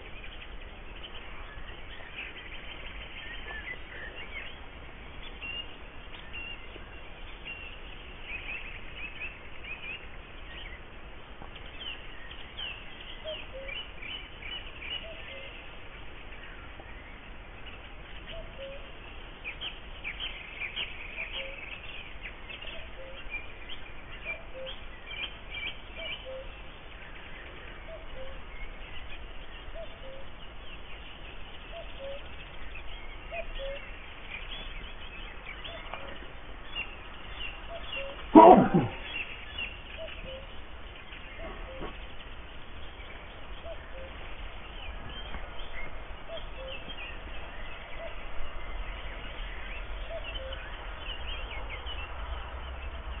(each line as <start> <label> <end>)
0.0 Birds 53.2
13.2 cuckoo 13.9
14.9 cuckoo 15.6
18.3 cuckoo 19.0
21.1 cuckoo 21.7
24.3 cuckoo 24.8
26.0 cuckoo 26.6
27.5 cuckoo 28.5
29.7 cuckoo 30.3
31.7 cuckoo 32.4
33.3 cuckoo 33.9
35.5 cuckoo 36.3
37.6 cuckoo 39.1
38.3 allergic sneezes 39.0
39.9 cuckoo 40.6
41.3 cuckoo 42.1
43.6 cuckoo 44.3
46.3 cuckoo 47.0
50.0 cuckoo 50.7